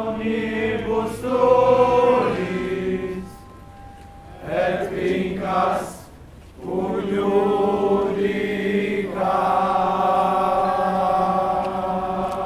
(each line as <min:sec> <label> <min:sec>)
0:00.0 procession 0:12.4
0:00.0 singing 0:12.4